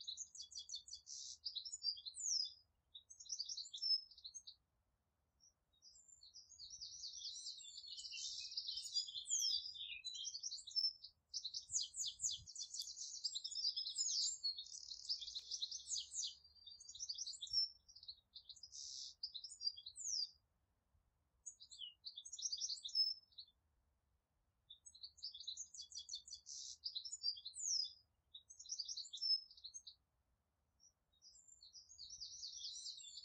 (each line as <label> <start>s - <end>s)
birds chirping 0.0s - 4.6s
birds chirping 5.4s - 20.4s
birds chirping 21.4s - 23.5s
birds chirping 24.7s - 30.0s
birds chirping 30.8s - 33.2s